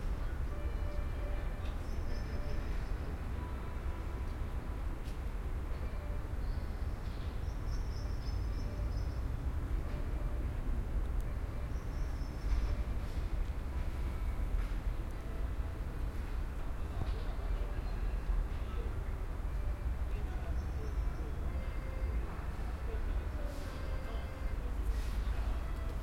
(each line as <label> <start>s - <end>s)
kid playing accordion somewhere far in an appartment 0.0s - 7.1s
kid playing accordion somewhere far in an appartment 8.4s - 16.8s
kid playing accordion somewhere far in an appartment 18.5s - 26.0s